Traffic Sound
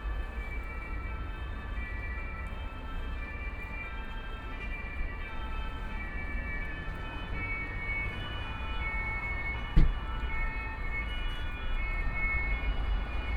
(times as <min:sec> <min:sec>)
0:05.1 0:13.3